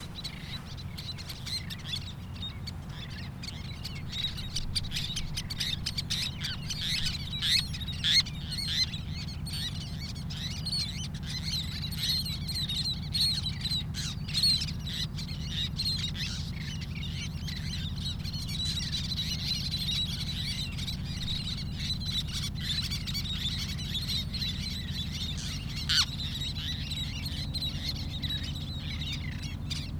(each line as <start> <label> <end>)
0.0 waves 1.7
0.0 car traffic 4.6
0.0 distant boat traffic 29.9
0.0 seagulls 29.9
0.0 wind 29.9